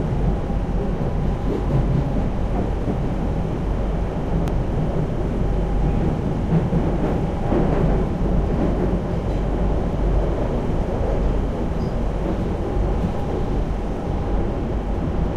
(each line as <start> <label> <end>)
0.0 noise of the rails 15.3
0.0 train 15.3